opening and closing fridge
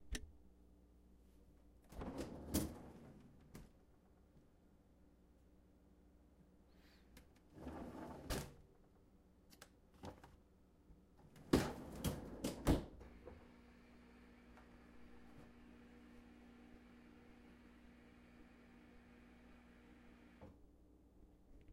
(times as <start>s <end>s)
1.9s 3.7s, 7.5s 8.6s, 11.3s 13.4s